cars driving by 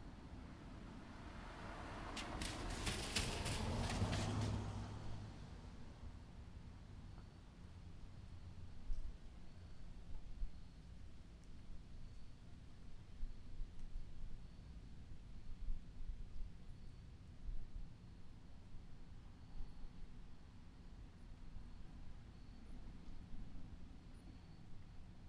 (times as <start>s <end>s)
1.1s 5.6s